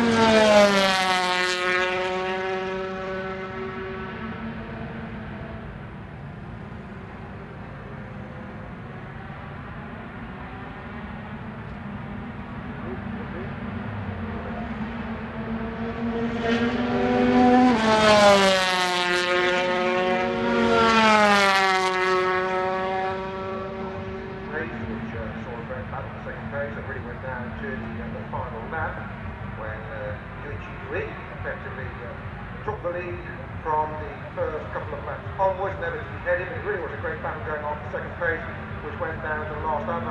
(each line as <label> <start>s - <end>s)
125 qualifying 0.0s - 40.1s
commentary 12.6s - 13.6s
commentary 24.4s - 40.1s